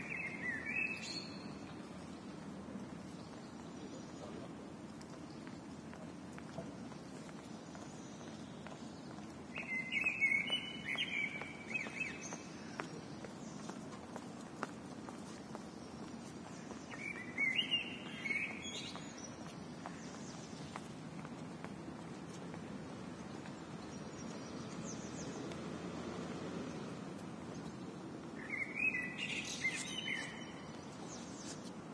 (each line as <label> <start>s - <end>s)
single blackbird singing in a tree 0.0s - 1.9s
footsteps of people walking by 0.0s - 31.9s
murmur of traffic in the distance 0.0s - 31.9s
single blackbird singing in a tree 7.8s - 13.7s
single blackbird singing in a tree 15.7s - 20.8s
single blackbird singing in a tree 28.4s - 31.6s